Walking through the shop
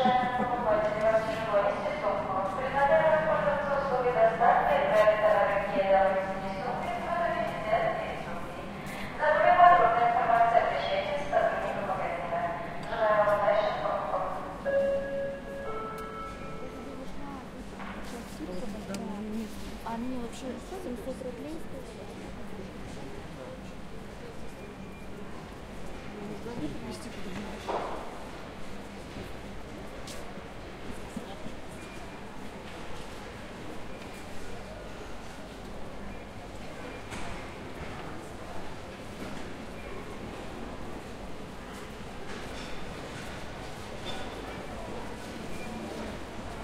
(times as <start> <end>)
14.2 46.6